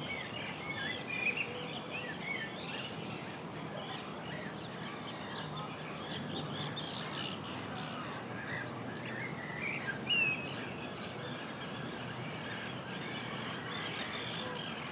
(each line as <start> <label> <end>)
10.5 seagulls 14.9
13.2 geese 14.9